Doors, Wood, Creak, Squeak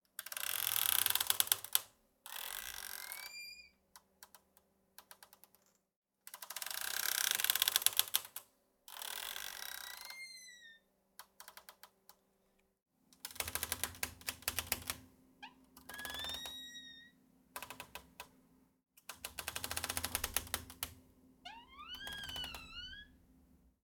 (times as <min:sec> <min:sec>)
0:02.4 0:03.8, 0:09.1 0:10.9, 0:15.9 0:17.2, 0:21.5 0:23.2